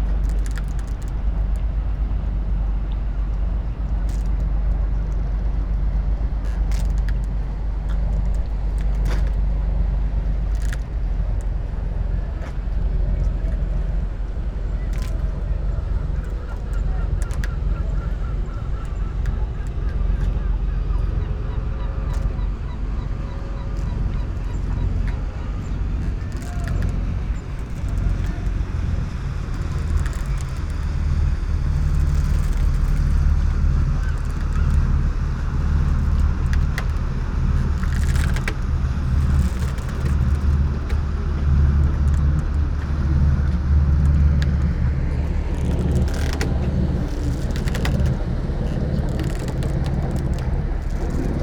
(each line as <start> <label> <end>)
0.0 soft waves 51.4
0.0 squeaking sailing boat 51.4
0.0 ropes 51.4
7.5 voices 30.8